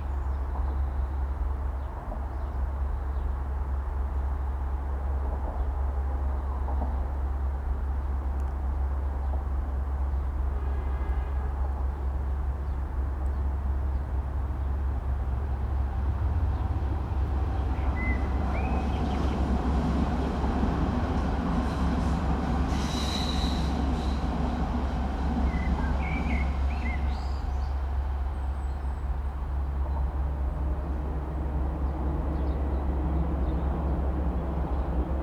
Trains pass by 0.0 - 35.2

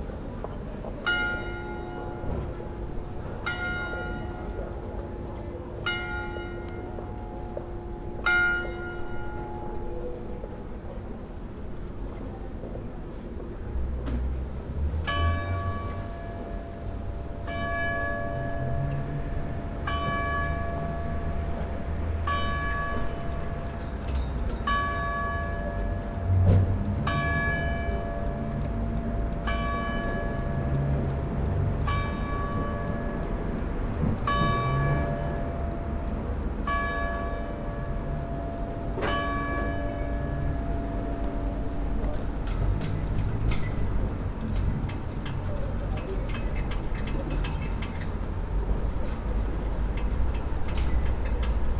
bells of the town hall 0.0 - 51.7
rope of a flagstaff rattles in the wind 41.6 - 51.7

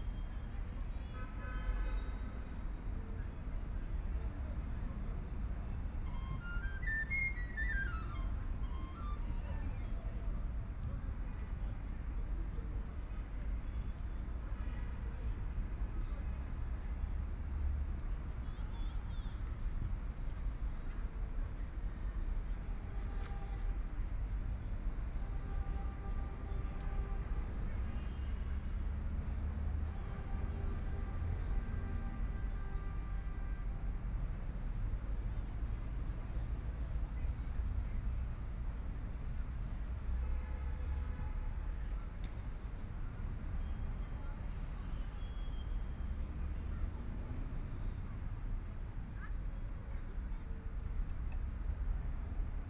Traffic Sound 0.0 - 52.6
sound traveling through the subway 2.0 - 39.5
Playing flute sounds 5.9 - 10.5

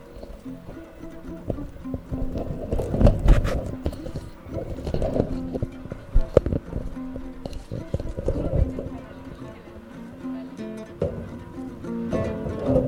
guitar 0.0 - 12.8

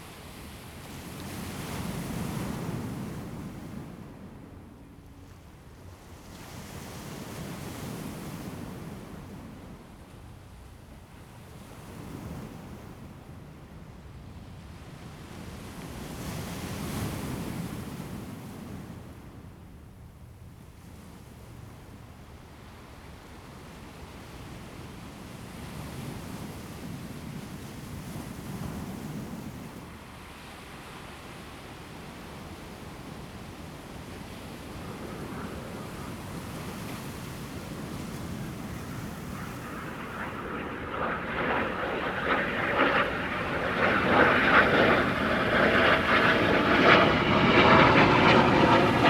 The distant sound of the yacht 34.4 - 49.0
Fighter flight through 34.4 - 49.0

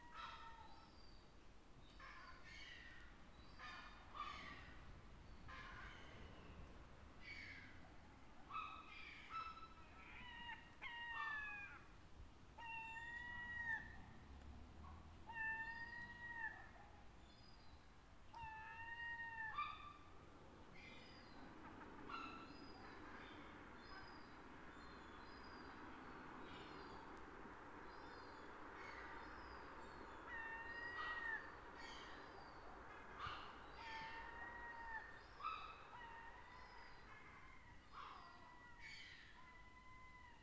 cars pass 13.3 - 17.1
cars pass 21.4 - 33.7

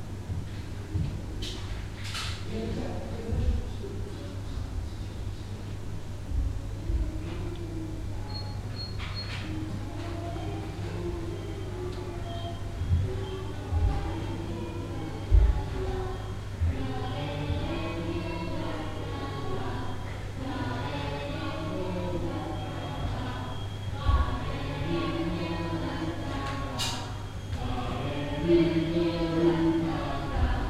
permanent wind of the aircondition 0.0 - 30.6
young students rehearsing a chorus 0.0 - 30.6

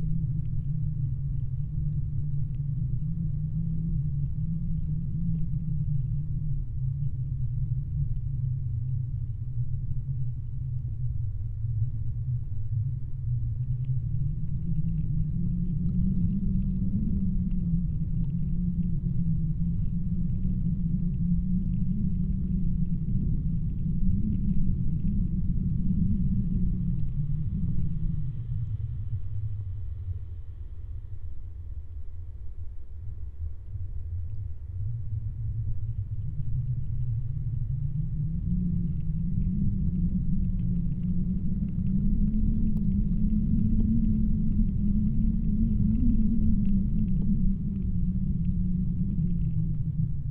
Strong wind 0.0 - 50.3

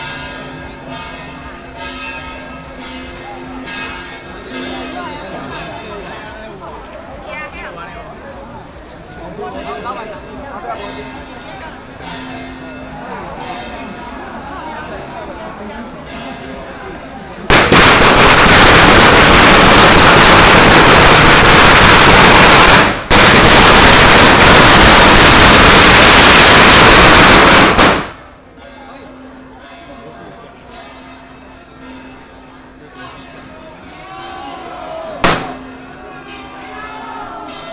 Crowded crowd 0.0 - 37.7
Fireworks and firecrackers sound 17.5 - 28.4
Fireworks and firecrackers sound 35.2 - 35.9

